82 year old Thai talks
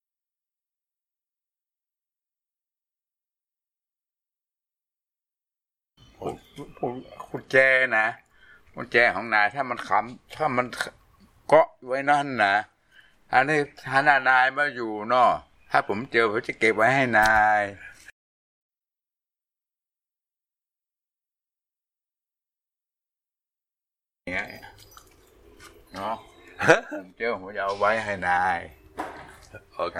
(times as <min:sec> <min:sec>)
0:06.2 0:12.7, 0:13.3 0:17.9, 0:27.1 0:28.7